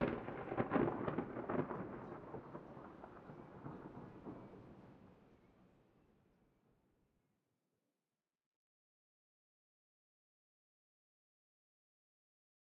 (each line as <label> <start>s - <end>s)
Thunder 0.0s - 5.1s